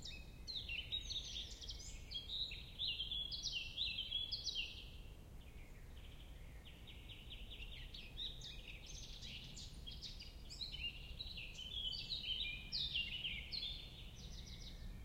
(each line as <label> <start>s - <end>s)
poplar tree 0.0s - 15.0s